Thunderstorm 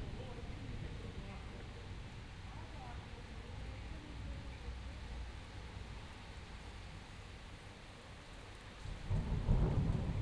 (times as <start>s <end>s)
8.8s 10.2s